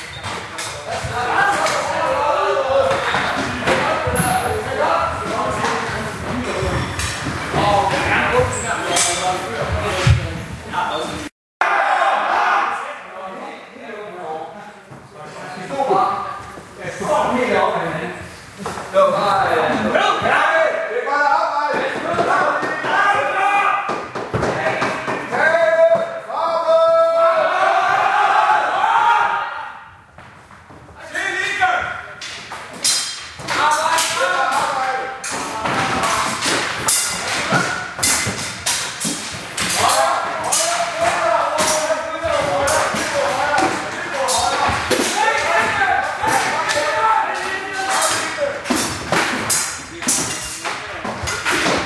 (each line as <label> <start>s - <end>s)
men yelling 1.0s - 5.6s
men yelling 25.3s - 29.7s
men yelling 39.7s - 48.7s